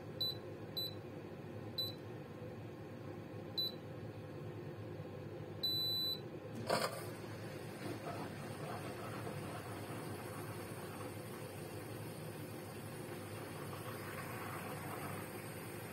6.6s Turning on the dishwasher 15.9s

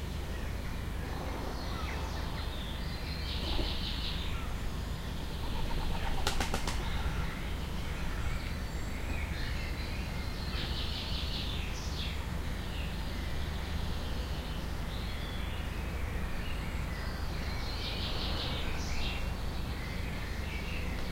0.0s distant train 14.8s
0.0s audible hiss 21.1s
0.0s bird song 21.1s
0.0s traffic 21.1s
6.1s pigeon flapping wings 6.8s

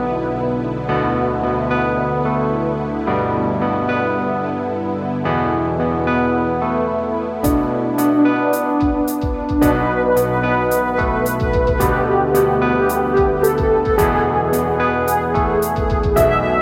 7.4s musical loop 16.6s

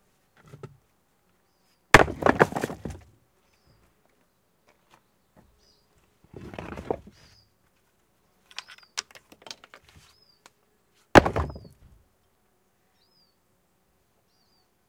2.0s sorting a pile of building stones 3.1s
6.2s sorting a pile of building stones 7.3s
11.1s sorting a pile of building stones 11.8s

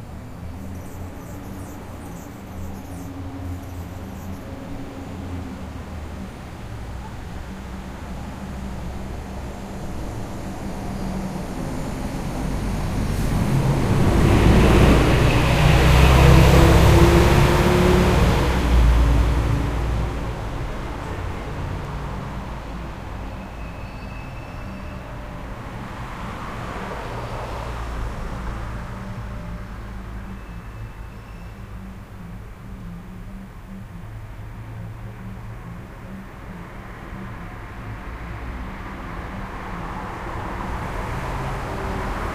0.0s Hummingbirds 26.8s
0.0s MUNI bus passes by 42.3s
0.0s traffic floats by 42.3s

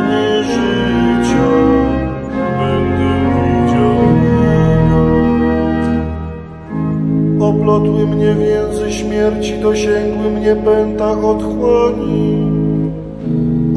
0.0s psalm 13.7s

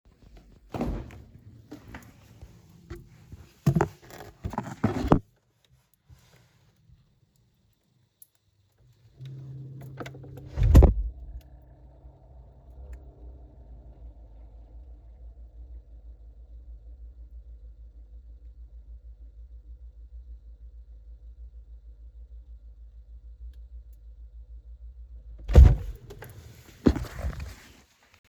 8.8s hum 27.5s

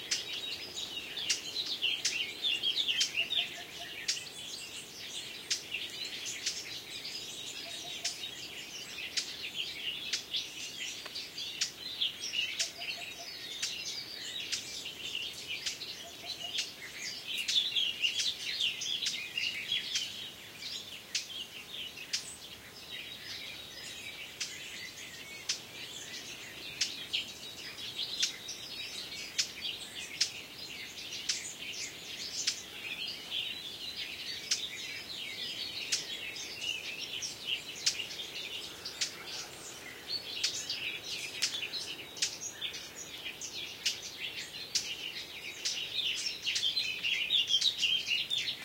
0.0s blackcap 48.6s

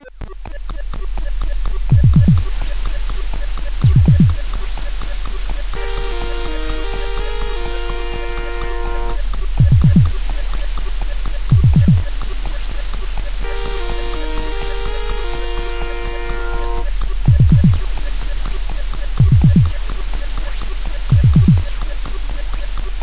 0.0s synth 12.3s
0.0s bass 23.0s
0.0s drum 23.0s
13.4s synth 17.8s

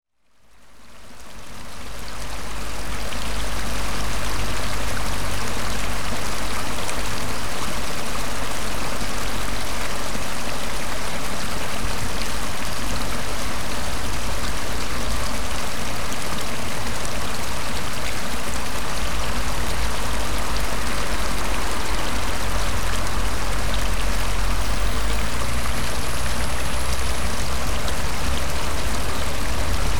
0.2s water passing through a culvert and over a small weir 29.9s
19.0s Traffic 29.9s

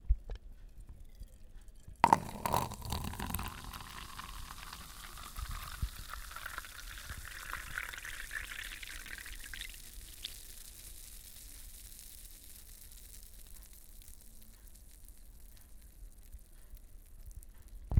2.0s Pouring coca-cola from a soda can into a paper cup 15.2s

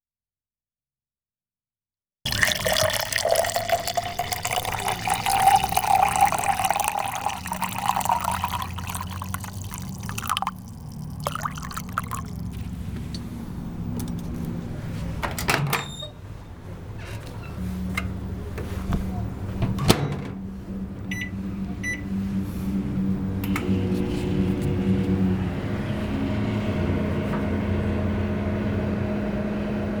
2.3s microwave coffee 13.0s

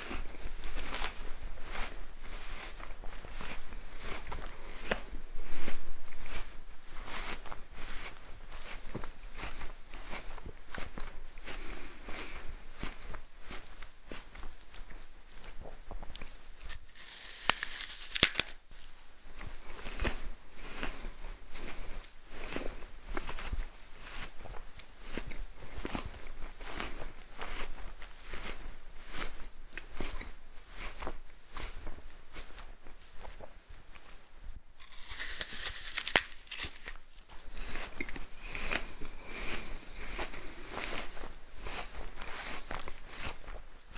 16.6s Human eating apple 18.9s
34.8s Human eating apple 41.0s

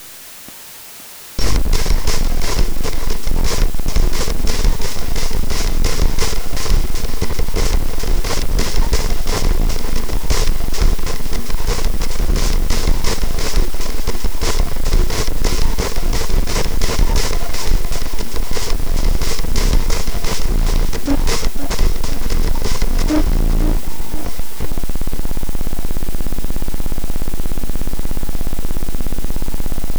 1.4s Bass Drum 25.1s

